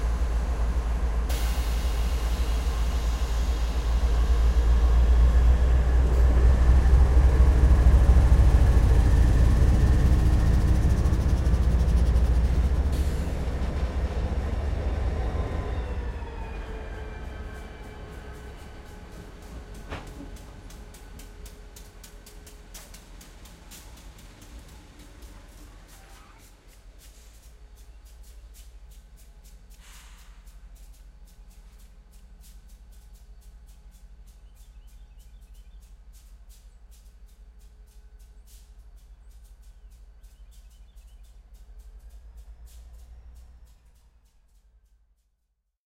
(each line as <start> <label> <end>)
0.0 Diesel Locomotive approaches slowly 45.0